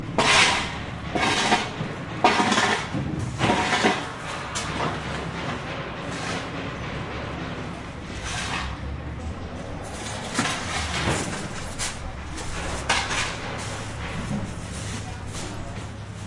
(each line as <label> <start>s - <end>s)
shoveling 0.2s - 4.1s